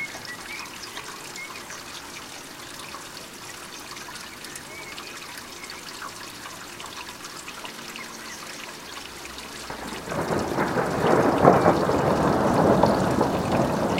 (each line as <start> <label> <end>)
0.0 flowing water 13.9
9.7 thunder 13.9